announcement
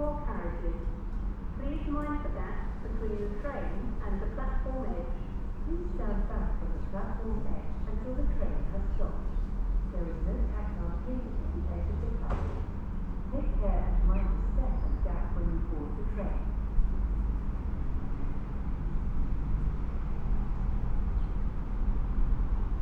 0.0s 1.0s, 1.6s 9.2s

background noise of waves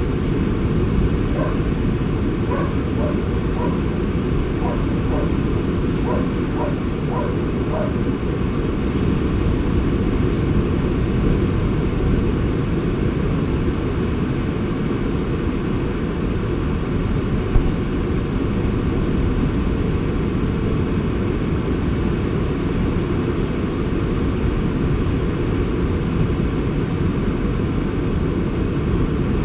0.0s 18.4s

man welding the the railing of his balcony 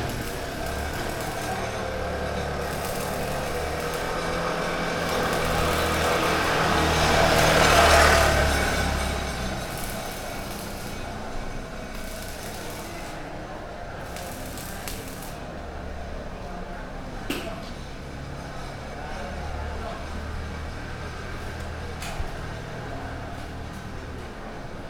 0.0s 15.9s

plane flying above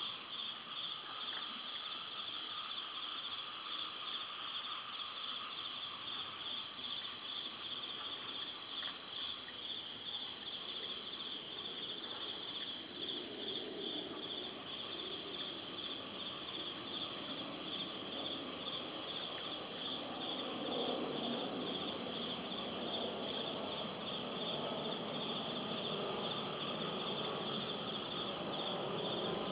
13.0s 29.5s

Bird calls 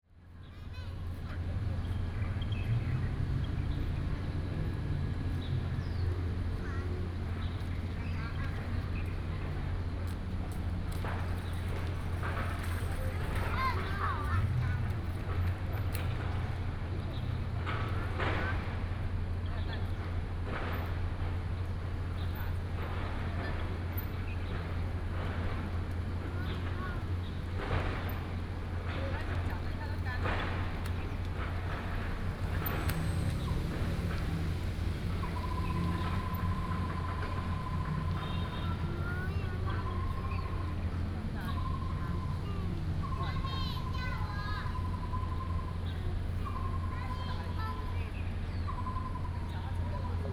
26.3s 50.3s

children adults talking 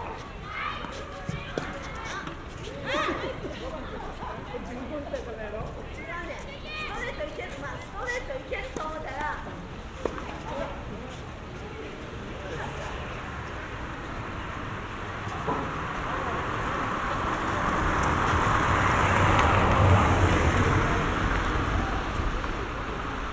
0.0s 9.7s

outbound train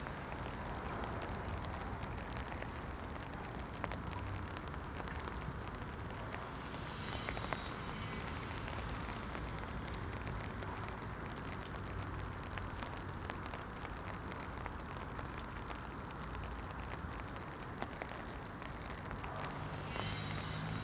6.0s 11.1s, 19.3s 20.8s

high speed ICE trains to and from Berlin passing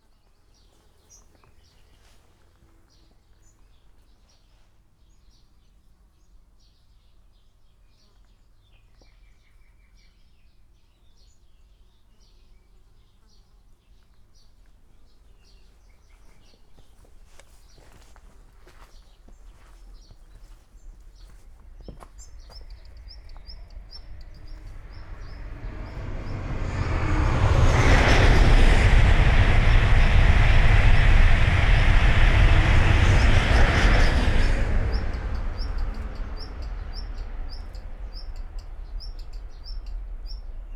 20.6s 40.7s

